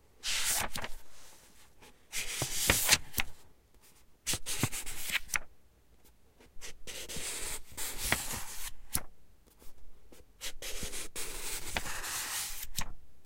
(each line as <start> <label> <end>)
0.2 Flipping through pages 3.4
4.3 Flipping through pages 5.5
6.9 Flipping through pages 9.1
10.5 Flipping through pages 12.9